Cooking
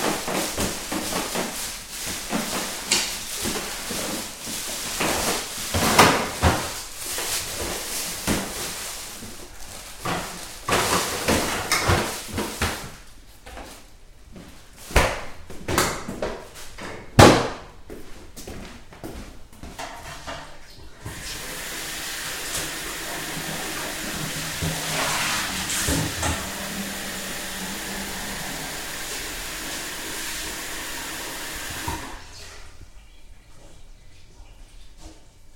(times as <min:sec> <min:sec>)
0:20.8 0:32.3